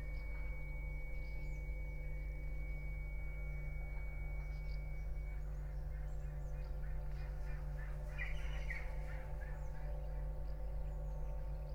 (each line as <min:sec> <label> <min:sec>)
0:00.0 birds 0:11.7